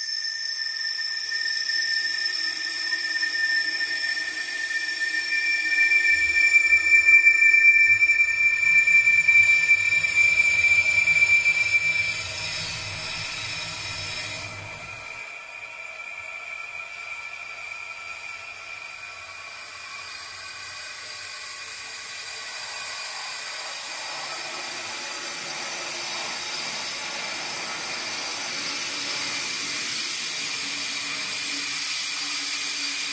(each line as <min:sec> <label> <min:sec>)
0:19.9 hiss 0:33.1